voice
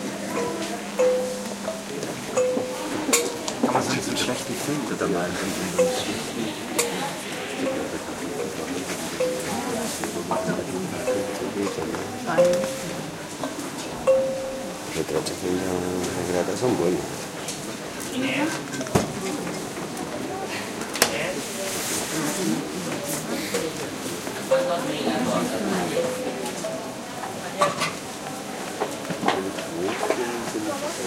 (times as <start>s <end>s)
2.7s 13.1s